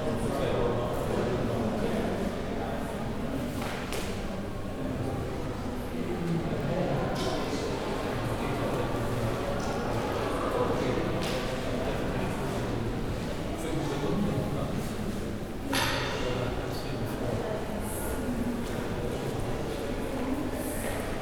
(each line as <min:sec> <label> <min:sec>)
0:06.6 school groups coming in and out of the room 0:13.8